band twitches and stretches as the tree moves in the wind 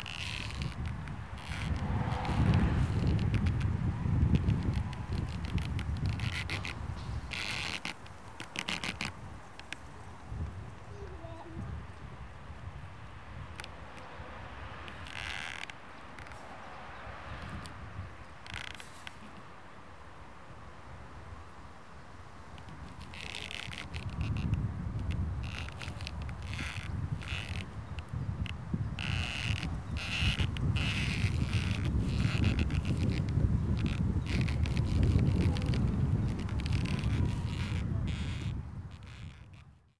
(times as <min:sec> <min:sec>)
0:00.0 0:11.6, 0:22.4 0:39.9